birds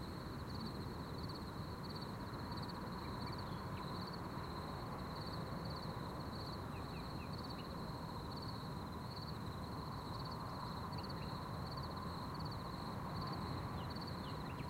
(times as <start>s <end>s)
13.7s 14.6s